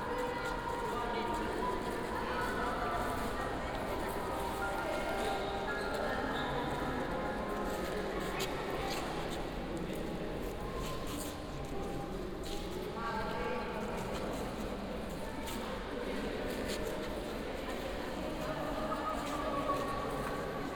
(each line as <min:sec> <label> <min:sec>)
0:00.0 visitors looking at and discussing an art installation 0:20.7